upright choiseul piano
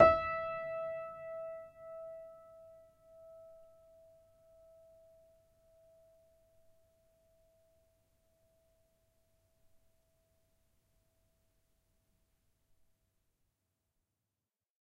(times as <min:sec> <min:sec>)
0:00.0 0:03.6